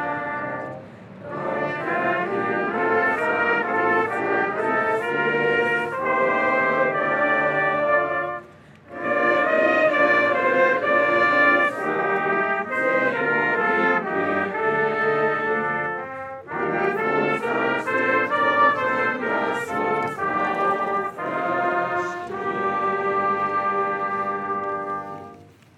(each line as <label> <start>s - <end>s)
religious song 0.0s - 25.7s
small demonstration in the street 0.0s - 25.7s